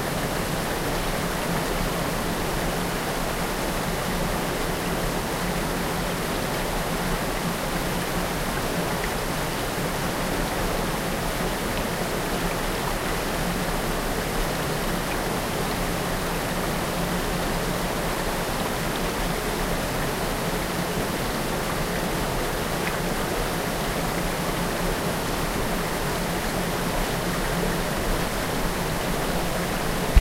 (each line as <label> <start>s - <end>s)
Waterfall sunds 0.0s - 30.2s